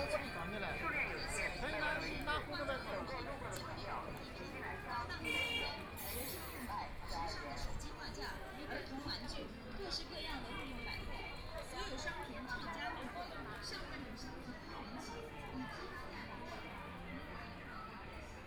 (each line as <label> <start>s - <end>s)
walking in the street 0.0s - 18.4s